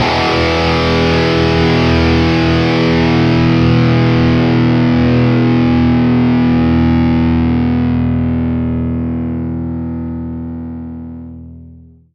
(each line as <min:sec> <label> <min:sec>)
0:00.0 E2 Power Chord Open 0:11.5